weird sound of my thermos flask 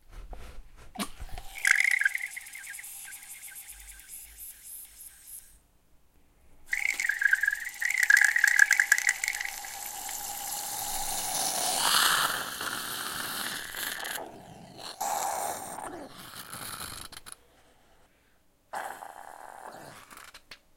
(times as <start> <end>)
0.2 5.6, 6.7 14.2